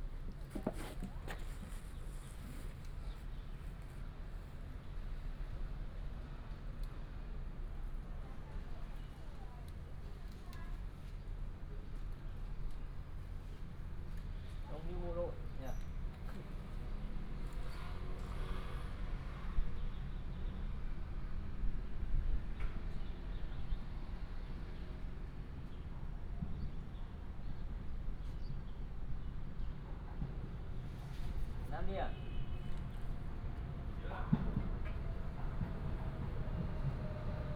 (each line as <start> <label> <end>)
32.8 The train passed 37.5